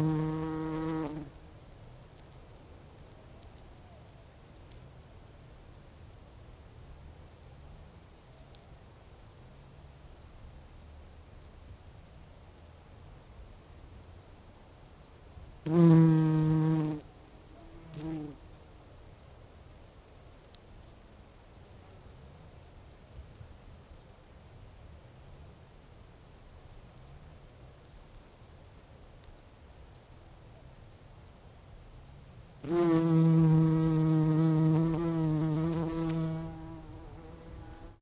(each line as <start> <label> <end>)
0.0 bumblebee flying from one flower to another 1.3
15.6 bumblebee flying from one flower to another 17.0
32.6 bumblebee flying from one flower to another 38.0